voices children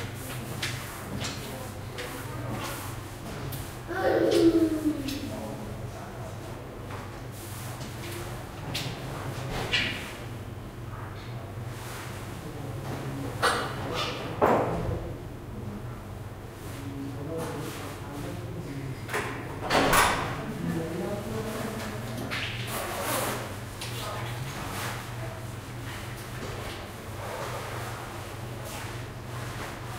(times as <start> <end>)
3.9 5.4